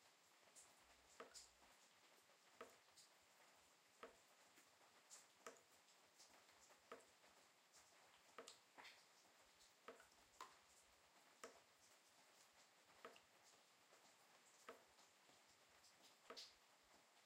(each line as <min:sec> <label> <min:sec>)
0:09.9 Water drops into a bucket 0:10.6